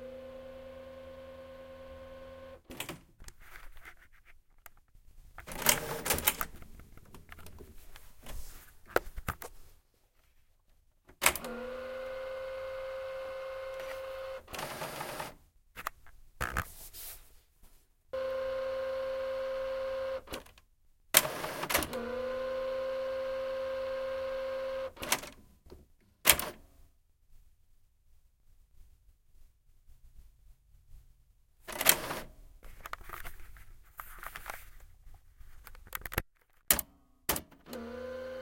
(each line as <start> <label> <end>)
5.5 scanner/printer combo 6.4
11.2 scanner/printer combo 15.4
18.2 scanner/printer combo 20.4
21.2 scanner/printer combo 25.3
37.7 scanner/printer combo 38.4